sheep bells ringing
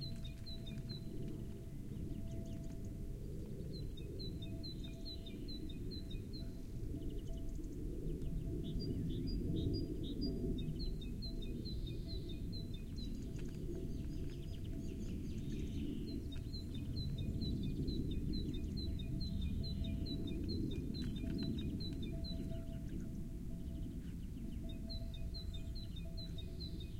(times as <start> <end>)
18.9 20.7, 21.3 26.9